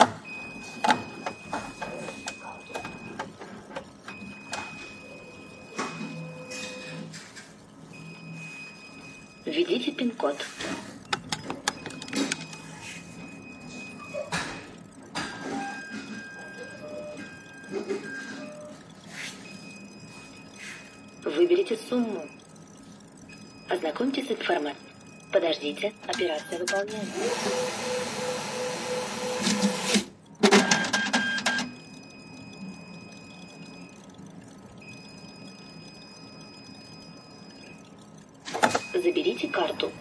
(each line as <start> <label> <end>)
0.0 Processed russian atm 40.0
9.5 speech 10.5
25.4 speech 27.1
39.0 speech 40.0